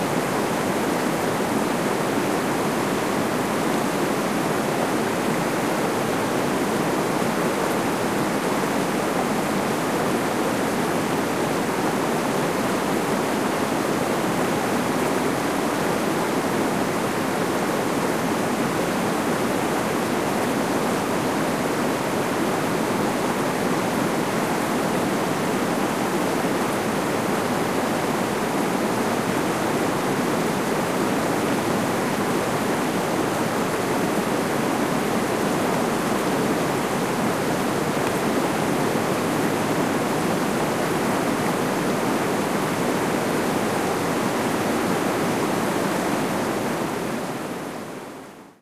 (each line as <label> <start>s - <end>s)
rushing rapids in a medium-size river 0.0s - 48.6s